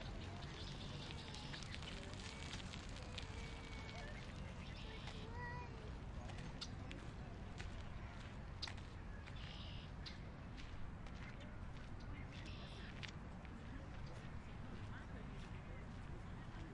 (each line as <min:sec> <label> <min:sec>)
0:00.0 birds 0:13.1